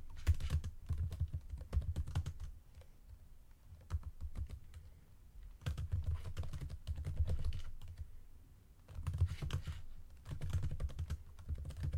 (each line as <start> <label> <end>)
0.2 Typing quickly on a computer 2.9
3.7 Typing quickly on a computer 4.9
5.6 Typing quickly on a computer 8.0
8.9 Typing quickly on a computer 11.9